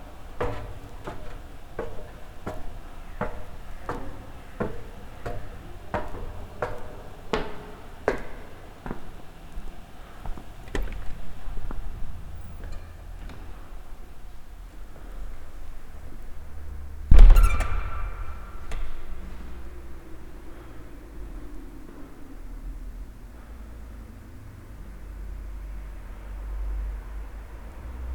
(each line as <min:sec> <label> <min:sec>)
0:00.0 stepping up an old steel, narrow steel stairway 0:25.0